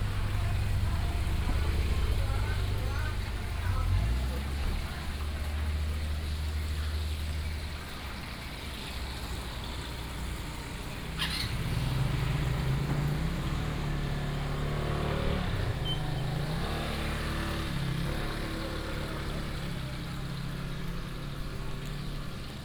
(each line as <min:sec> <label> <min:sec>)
0:00.0 Fried chicken shop 0:22.6
0:00.0 traffic sound 0:22.6